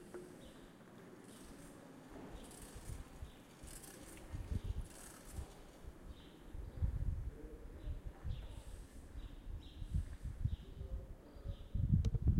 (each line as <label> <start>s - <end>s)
bicycle passing - repetitive clicking sound 2.4s - 5.8s